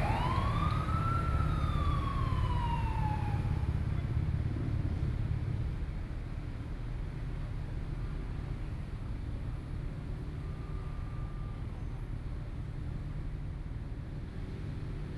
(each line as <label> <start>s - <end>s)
Traffic 0.0s - 15.1s